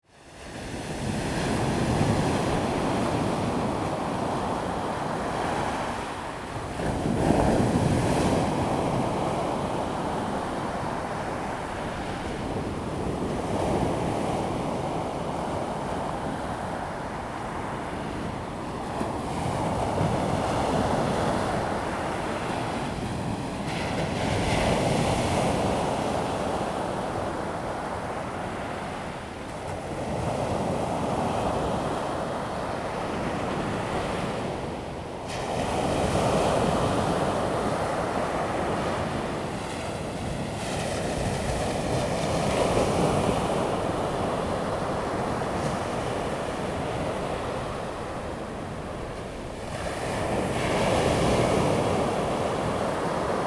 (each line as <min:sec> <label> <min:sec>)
0:00.3 waves 0:53.4